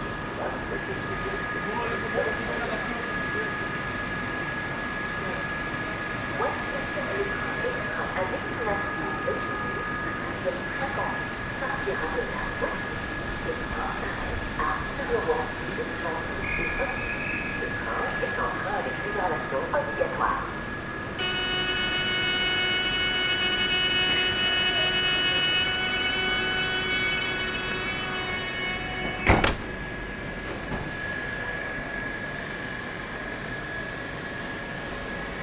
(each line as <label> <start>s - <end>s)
train is leaving 0.0s - 35.4s
activating the alarm system 21.2s - 29.9s